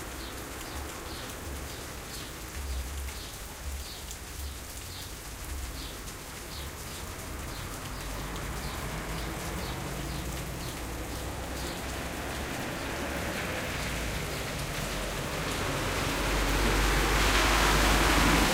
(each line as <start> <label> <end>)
0.0 Rain 18.5
6.9 Noise of cars and truck 18.5